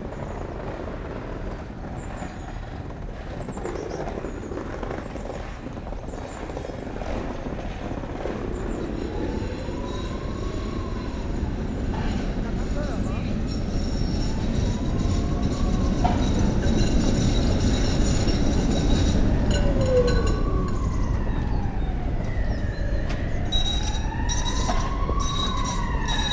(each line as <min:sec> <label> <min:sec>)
0:00.0 bus 0:26.3
0:00.0 tram 0:26.3
0:06.8 ambulance 0:26.3
0:12.7 belles 0:20.8
0:23.4 belles 0:26.3